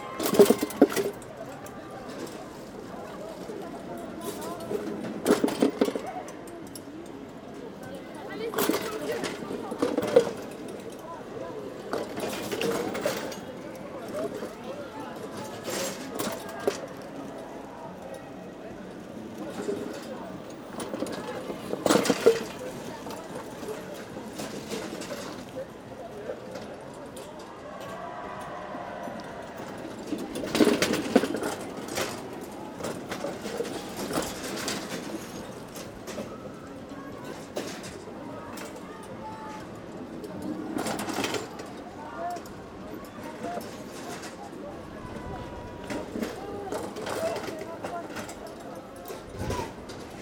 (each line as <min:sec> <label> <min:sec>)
0:00.2 wheels, jumping a small metallic gutter 0:01.2